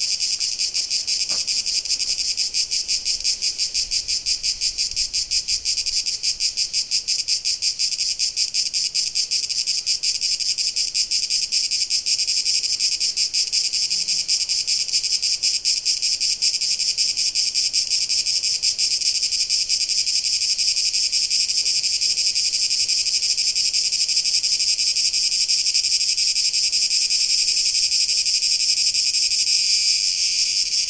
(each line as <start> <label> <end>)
0.0 cicadas 30.8